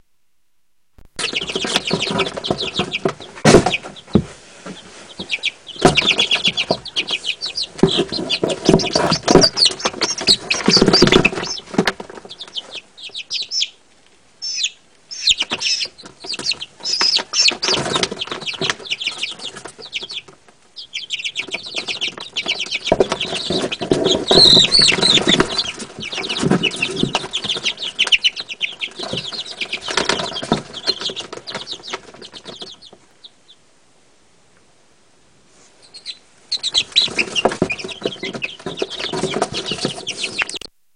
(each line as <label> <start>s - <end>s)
chicks in a paper box cheeping and moving 1.0s - 33.7s
chicks in a paper box cheeping and moving 35.5s - 40.9s